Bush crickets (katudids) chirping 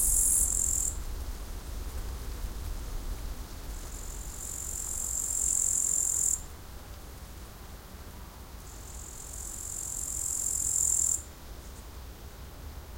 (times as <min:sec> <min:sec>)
0:00.0 0:01.0, 0:03.9 0:06.5, 0:08.7 0:11.8